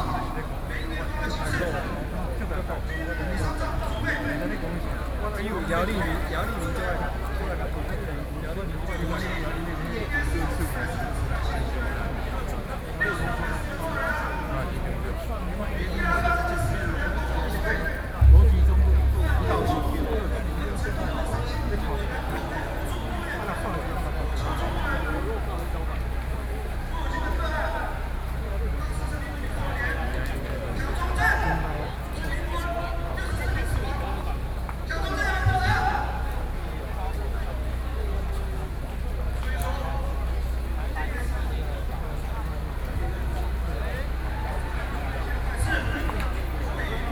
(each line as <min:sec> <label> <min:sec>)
0:18.2 Protest 0:20.9